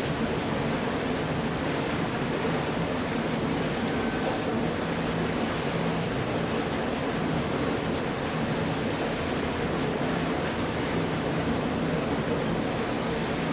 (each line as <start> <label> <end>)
0.0 Water beeing sent to the small canal 13.5